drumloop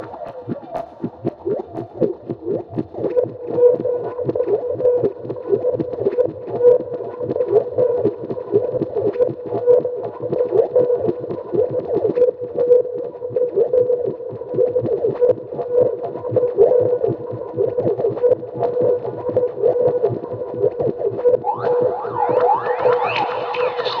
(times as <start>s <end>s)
0.0s 7.4s